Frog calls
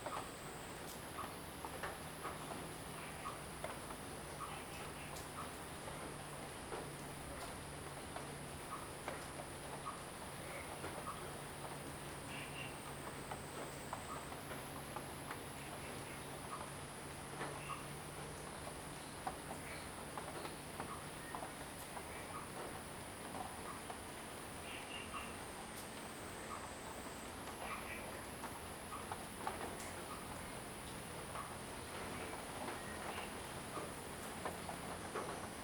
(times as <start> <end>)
17.4 18.0